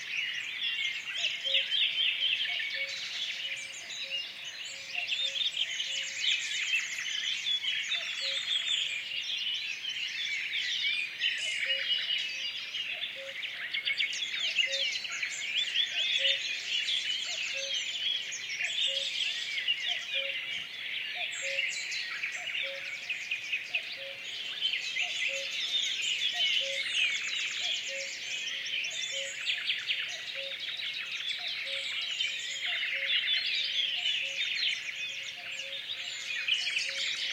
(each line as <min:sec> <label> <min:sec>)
0:00.0 nightingale 0:37.3
0:00.0 other birds singing 0:37.3
0:01.2 cuckoo calling in the distance 0:06.2
0:11.4 cuckoo calling in the distance 0:15.0
0:17.2 cuckoo calling in the distance 0:18.0
0:18.6 cuckoo calling in the distance 0:23.1
0:24.9 cuckoo calling in the distance 0:30.7
0:31.4 cuckoo calling in the distance 0:37.3